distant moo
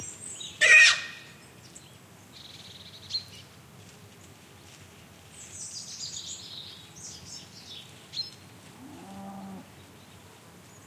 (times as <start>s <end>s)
8.8s 9.7s